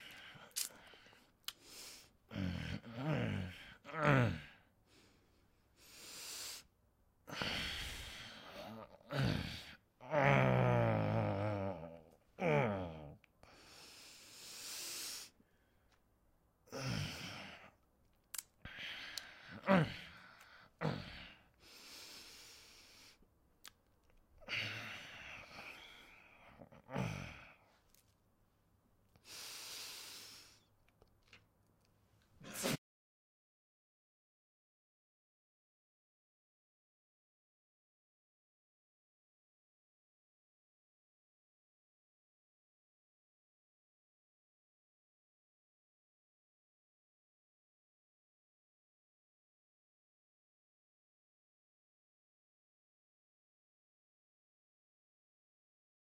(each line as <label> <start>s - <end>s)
grumbling from sleeping 8.6s - 13.1s